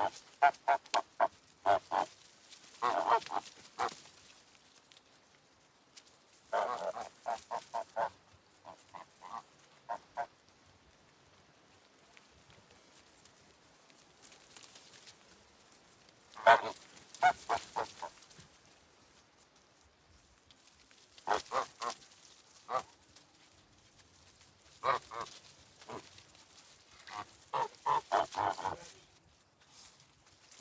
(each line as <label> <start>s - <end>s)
geese honking 0.0s - 4.0s
geese honking 6.5s - 10.3s
geese honking 16.3s - 18.2s
geese honking 21.2s - 22.0s
geese honking 22.6s - 23.0s
geese honking 24.8s - 26.1s
geese honking 27.0s - 28.9s